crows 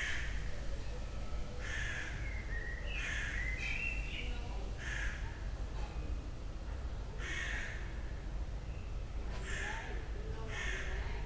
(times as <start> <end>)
1.6 2.2, 4.8 5.3, 7.2 7.9, 9.4 11.1